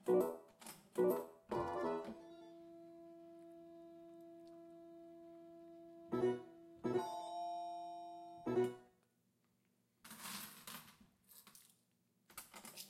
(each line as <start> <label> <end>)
6.2 slot play on Japanese Slot Machine 8.8